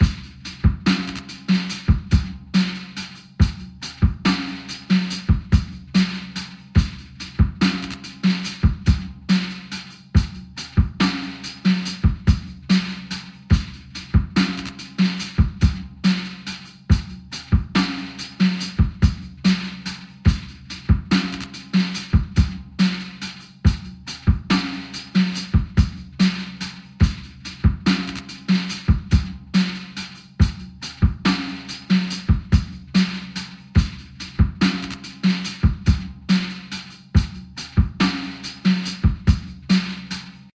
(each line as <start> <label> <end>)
0.0 slow simple drum loop 40.5